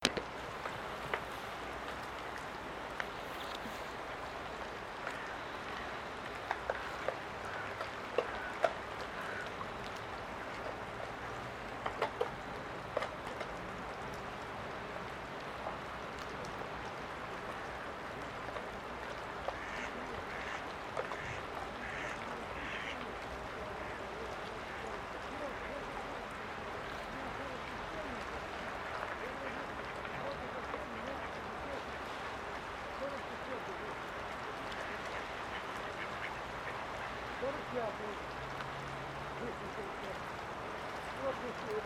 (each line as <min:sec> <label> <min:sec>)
0:00.0 water gurgling 0:41.8
0:04.9 ducks quacking 0:09.6
0:19.4 ducks quacking 0:38.0